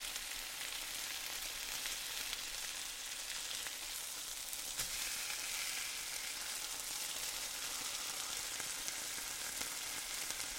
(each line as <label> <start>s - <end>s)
Pan Frying Chicken 0.0s - 10.5s